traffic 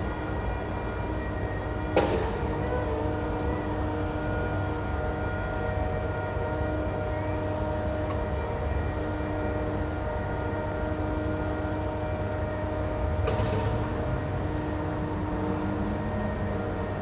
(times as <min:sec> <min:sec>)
0:12.9 0:17.0